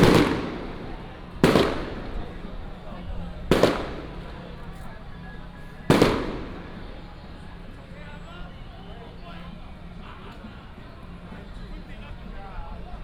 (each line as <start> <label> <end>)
0.0 fireworks 7.5
0.0 Firecrackers 8.3
0.0 Many people gathered at the intersection 13.0
0.0 Traffic sound 13.0